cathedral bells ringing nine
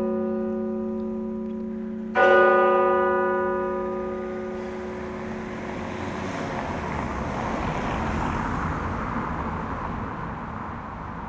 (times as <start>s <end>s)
0.0s 5.8s